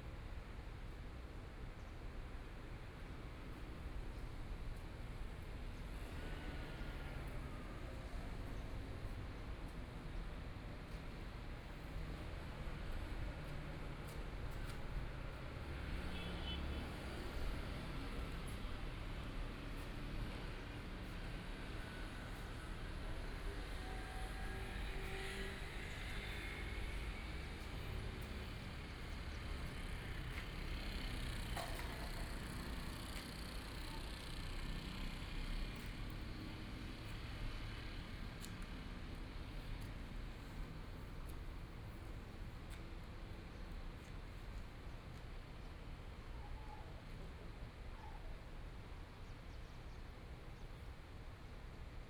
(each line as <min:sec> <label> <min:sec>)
0:03.9 Traffic Sound 0:46.1